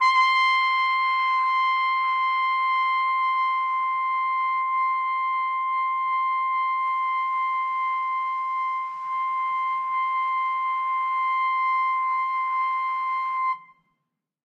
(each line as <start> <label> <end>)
0.0 trumpet 13.8